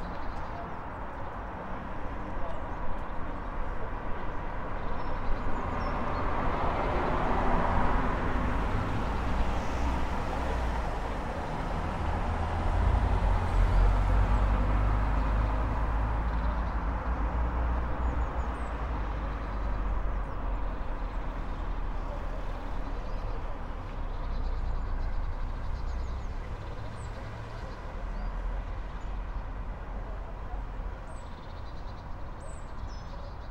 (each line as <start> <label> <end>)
0.0 cars 33.5
31.0 birdsong 33.5